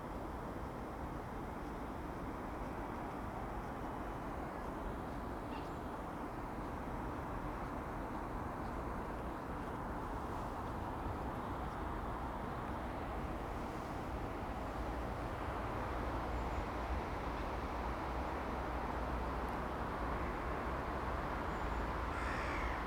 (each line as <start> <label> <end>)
0.0 cyclists 22.6